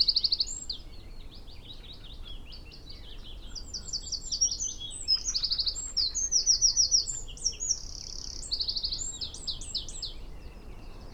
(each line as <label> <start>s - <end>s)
willow warbler song 0.0s - 11.1s